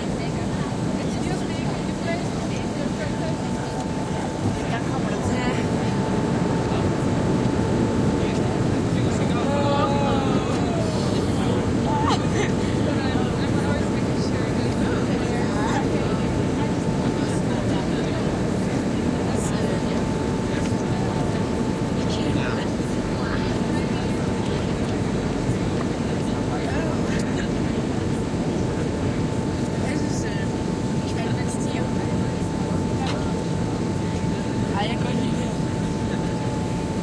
Passenger plane landing 0.0 - 37.0

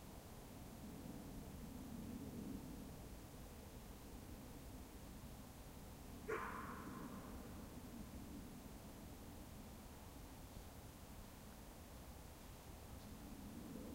dog barking 6.3 - 7.3

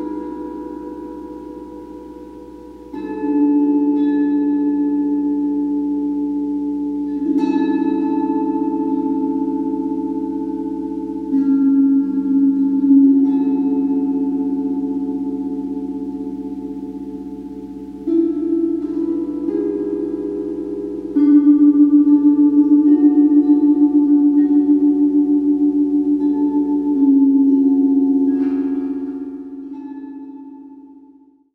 Ukulele played into a gong-microphone 0.0 - 31.2
gong 0.0 - 31.5

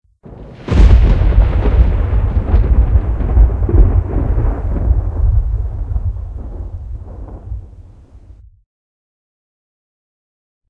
Single thunder clap 0.3 - 8.4

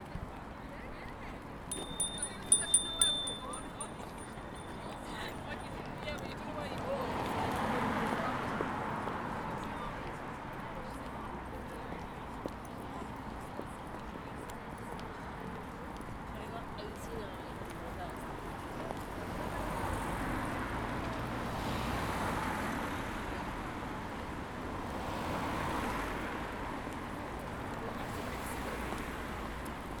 voices 1.7 - 8.0
cars 1.7 - 30.0

